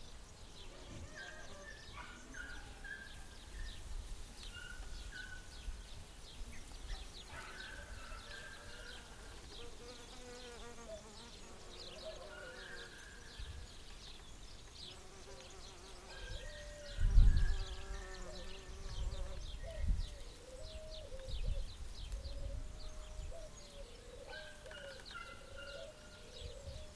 dog 6.9 - 8.5

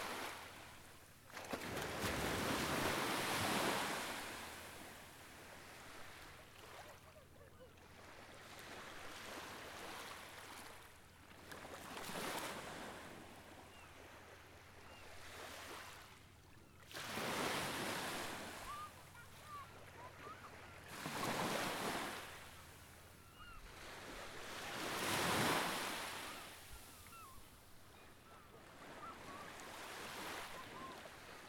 quiet waves 0.0 - 31.4
seagulls 6.9 - 7.8
seagulls 18.5 - 20.8
seagulls 23.2 - 23.7
seagulls 26.2 - 31.1

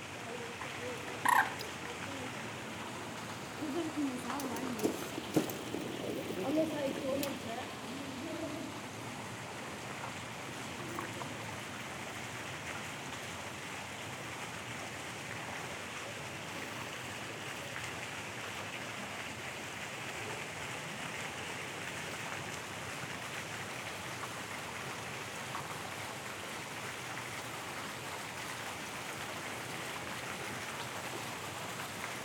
Fountains 0.0 - 32.2
worried moorhen 0.6 - 2.0

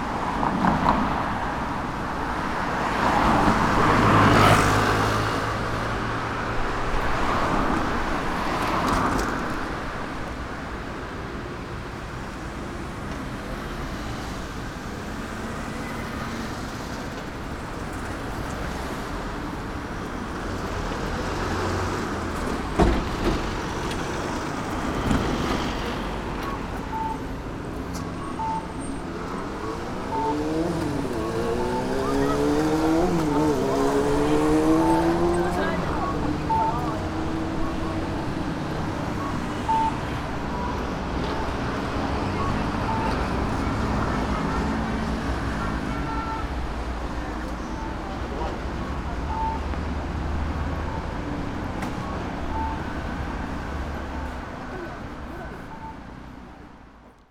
cars 0.0 - 57.3
traffic signals 12.2 - 57.2
mopeds 28.0 - 40.1

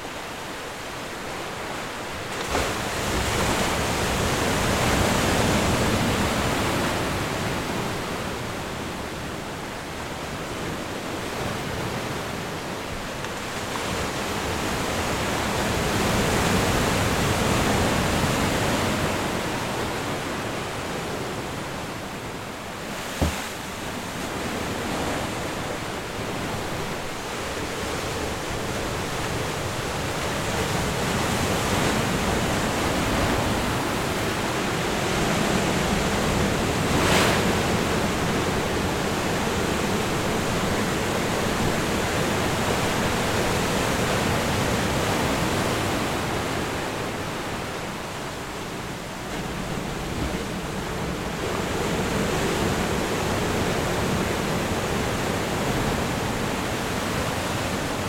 The Ocean 0.0 - 58.0

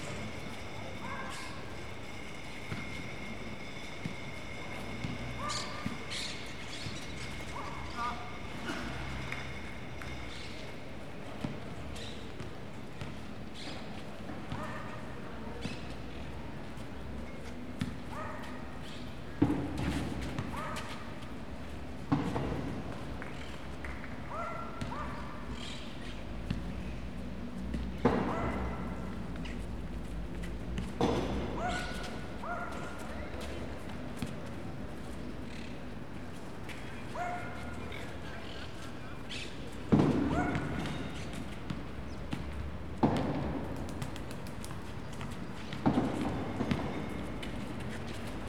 People playing basketball 1.4 - 10.3
People playing basketball 36.6 - 48.4

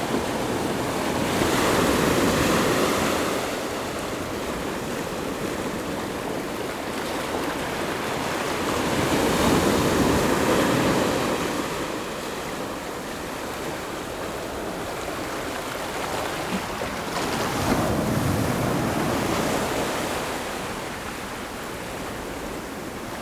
waves 0.0 - 23.2

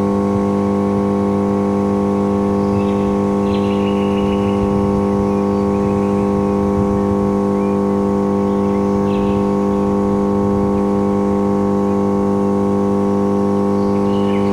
coarse buzz of a transformer 0.0 - 14.5
bird chirps echoing of a wall 2.3 - 12.6
bird chirps echoing of a wall 13.6 - 14.5

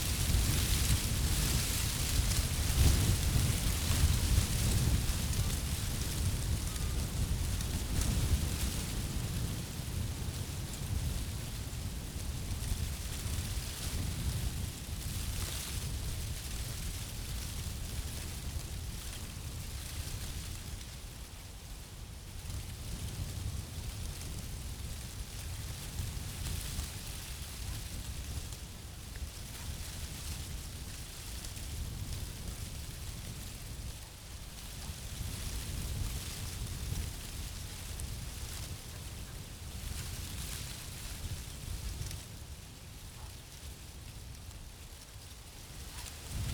dry leaves rattling 0.0 - 8.7
wind in oak tree 0.0 - 46.5

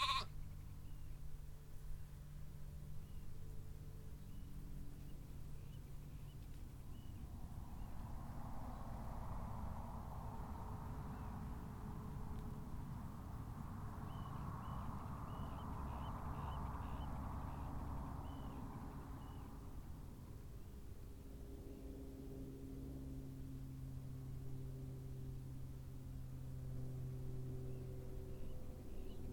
very tame lamb 0.0 - 0.5

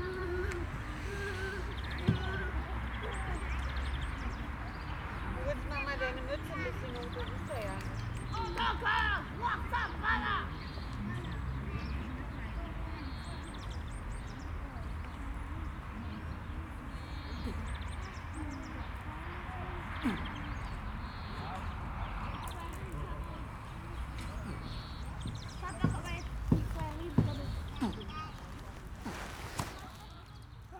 grown-ups 15.2 - 30.7

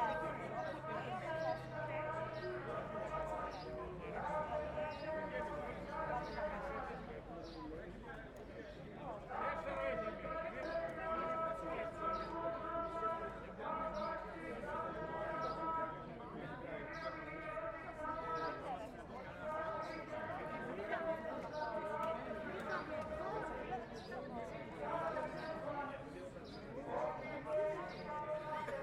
Protest 0.0 - 7.2
Protest 9.0 - 28.8

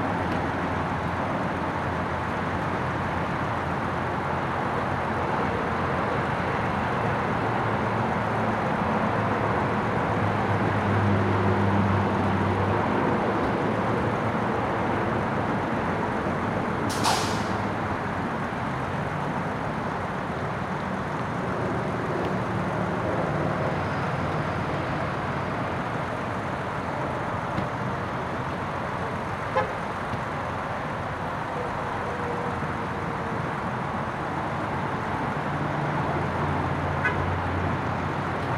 cars and trucks can be heard pulling in and out 0.0 - 38.5
roar of traffic is constant 0.0 - 38.5

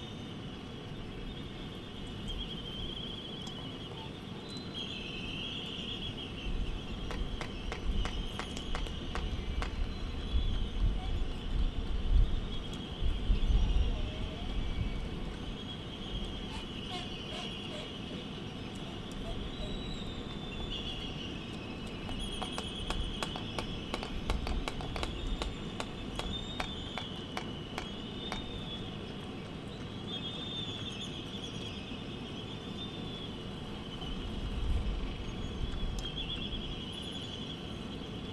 laysan albatross dancing 6.9 - 10.6
laysan albatross dancing 21.5 - 28.9

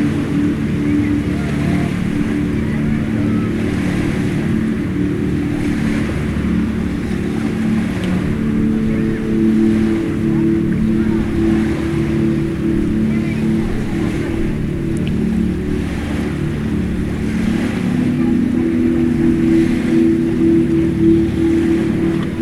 being played on the speakers 0.0 - 22.4

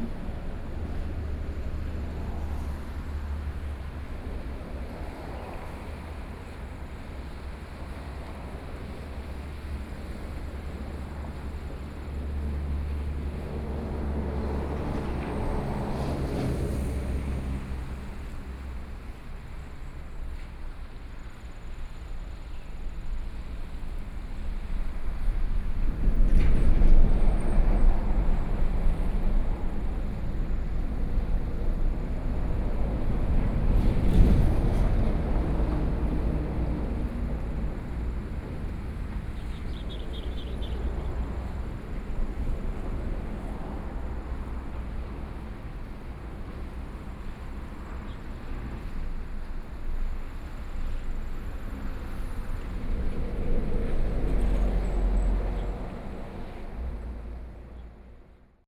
waves 0.0 - 57.7
Traffic Sound 0.0 - 58.6
Birdsong 39.4 - 41.0

